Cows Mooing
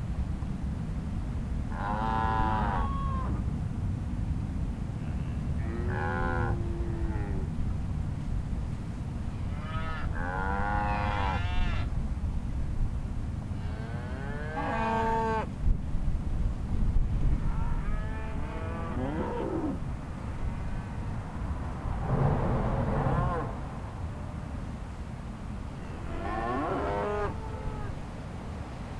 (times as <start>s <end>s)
5.6s 7.5s, 9.6s 11.8s, 13.6s 15.4s, 17.4s 19.8s, 22.5s 23.6s, 25.9s 27.9s